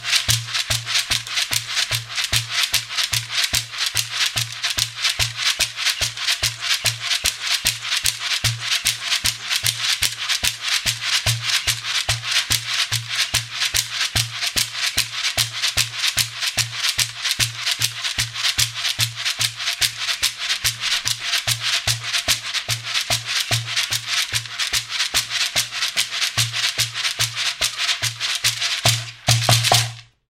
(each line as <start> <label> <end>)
0.0 large shekere 30.1